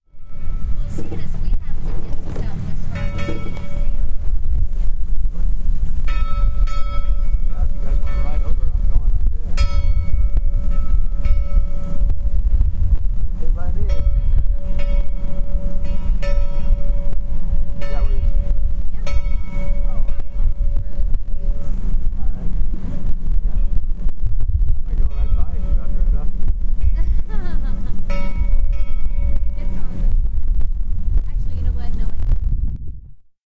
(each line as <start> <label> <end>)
2.8 buoy bell 4.0
6.1 buoy bell 8.9
9.6 buoy bell 12.0
17.8 buoy bell 21.7
26.8 buoy bell 30.0